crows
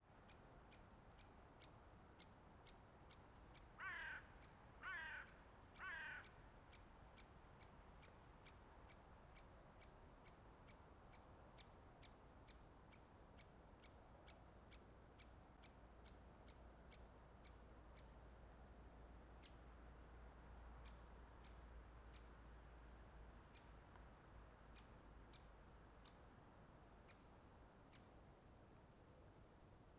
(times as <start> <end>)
3.8 6.4